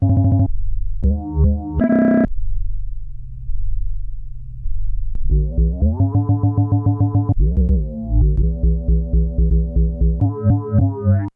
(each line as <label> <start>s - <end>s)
synth 5.2s - 11.3s